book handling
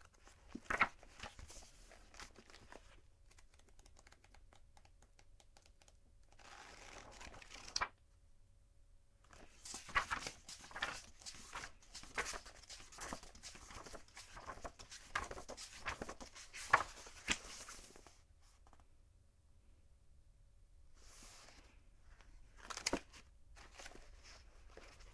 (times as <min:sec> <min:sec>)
0:00.0 0:04.3, 0:09.3 0:18.8, 0:22.5 0:25.1